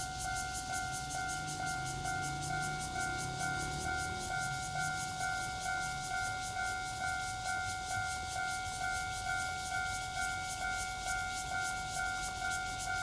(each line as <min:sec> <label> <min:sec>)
0:00.0 Cicadas sound 0:13.0
0:00.0 Train traveling through 0:13.0
0:01.0 Traffic Sound 0:06.5